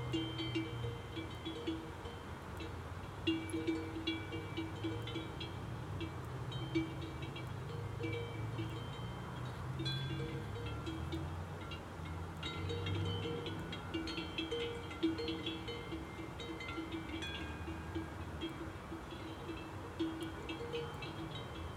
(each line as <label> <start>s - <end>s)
herd of cows with bells 0.0s - 21.7s
noise of the road 0.0s - 21.7s